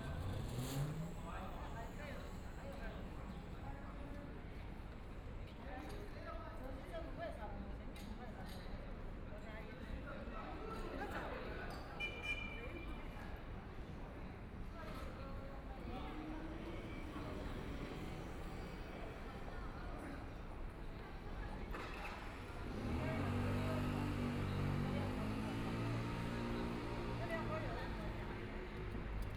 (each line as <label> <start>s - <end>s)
Electric cars 0.0s - 3.4s
Electric cars 16.2s - 29.3s